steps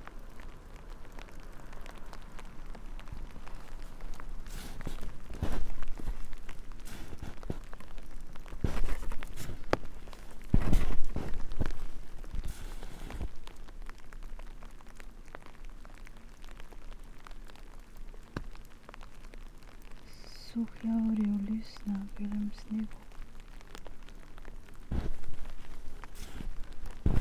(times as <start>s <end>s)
3.6s 7.8s, 8.4s 13.4s, 24.9s 27.2s